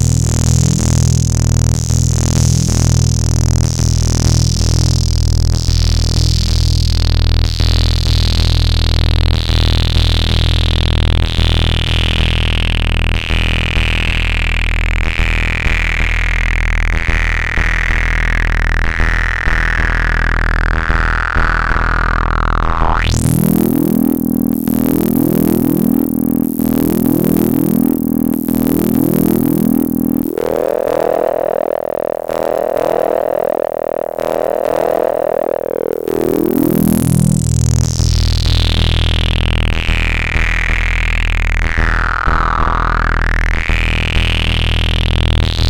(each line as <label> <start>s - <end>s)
long fizzy bass drone sample with filter opening 0.0s - 5.2s
long fizzy bass drone sample with filter opening 23.0s - 40.2s